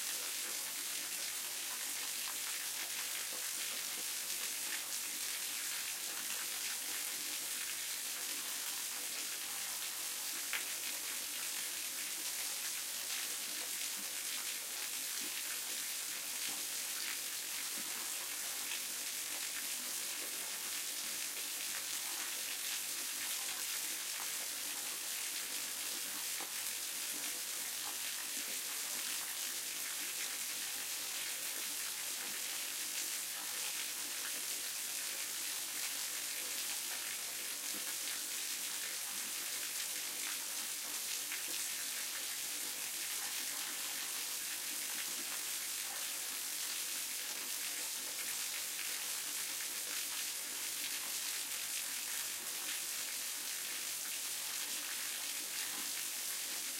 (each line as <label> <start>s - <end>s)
flow of water in a waterfall 0.0s - 56.7s